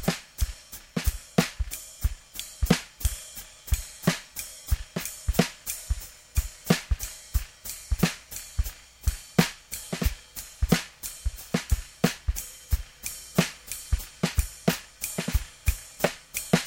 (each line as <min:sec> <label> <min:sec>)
0:00.0 drum 0:16.6